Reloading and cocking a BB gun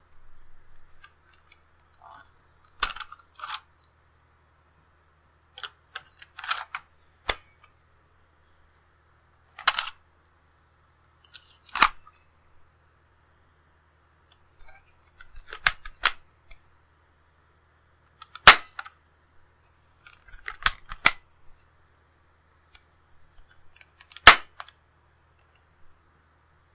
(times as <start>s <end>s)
11.2s 12.0s, 18.2s 18.9s, 20.4s 21.2s, 23.9s 24.8s